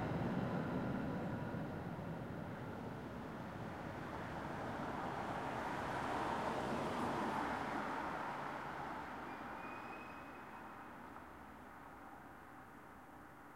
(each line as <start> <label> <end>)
0.0 trams passing by 7.3
0.0 bus 13.5